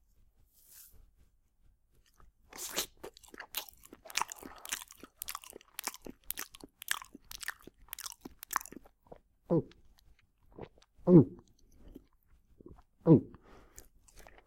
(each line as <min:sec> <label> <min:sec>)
0:02.5 Banana Munching 0:09.2